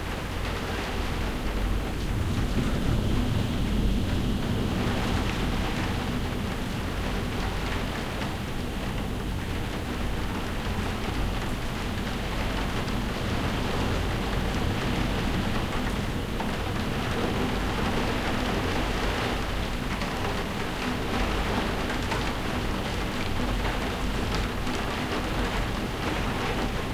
0.0s rain on a skylight 26.9s

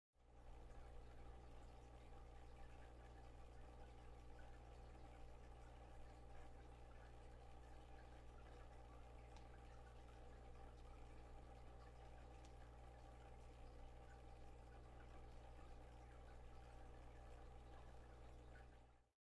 0.2s fishtank aquarium filter bubbling and buzzing 19.2s

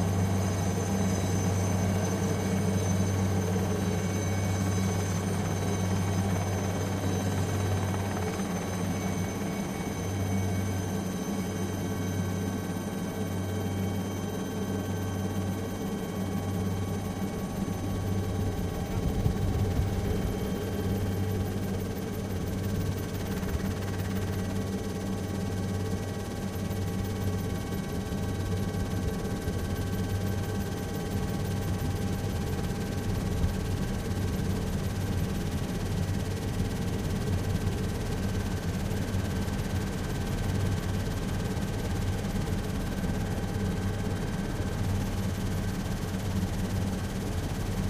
0.0s Helicopter engine 47.8s

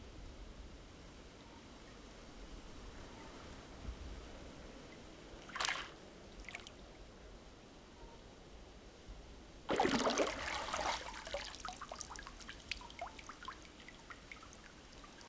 9.7s Person going under water 11.5s

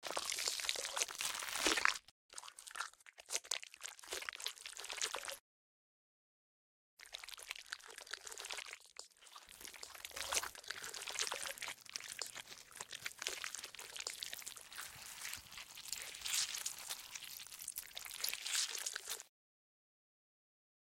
0.0s zombie flesh bites 2.1s
0.0s crunch 5.4s
7.4s crunch 19.3s
9.5s zombie flesh bites 19.3s

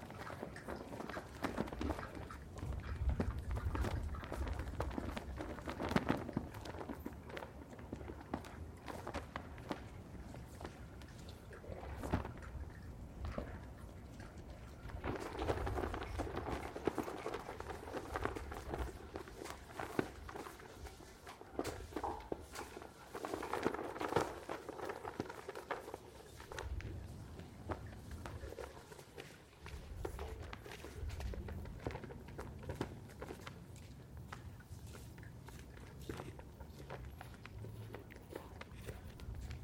0.0s flag flaps back and forth 35.8s
1.8s high wind 7.8s

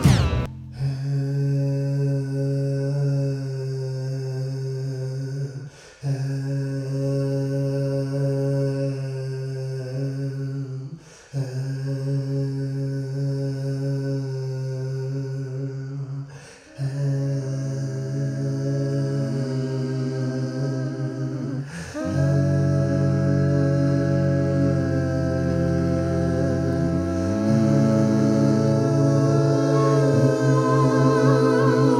0.0s vocal harmony 31.9s

